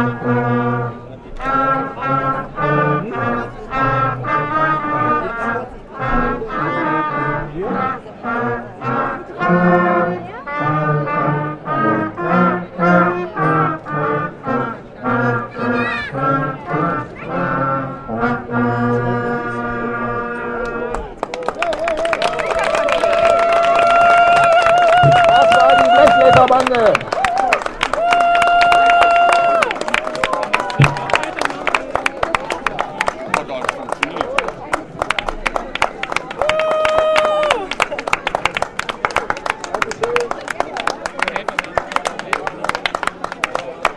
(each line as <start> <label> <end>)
0.0 Blechbläserbande 21.2